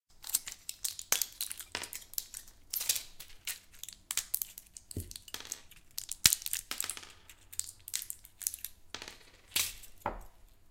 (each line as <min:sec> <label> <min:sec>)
0:08.9 dropping them on a wooden table 0:10.4